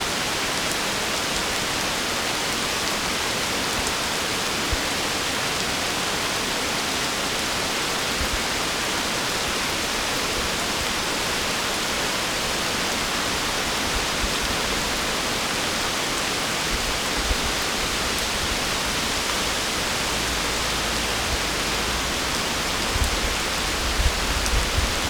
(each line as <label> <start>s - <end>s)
Heavy Rain 0.0s - 25.0s